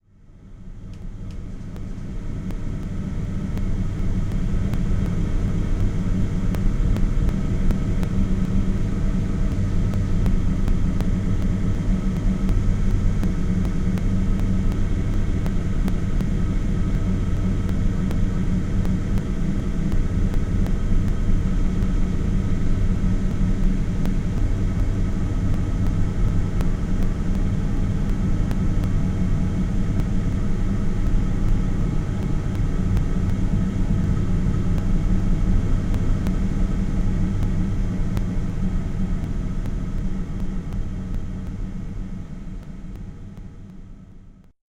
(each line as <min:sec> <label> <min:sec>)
0:00.2 oil fueled waterheater, heating up water 0:44.4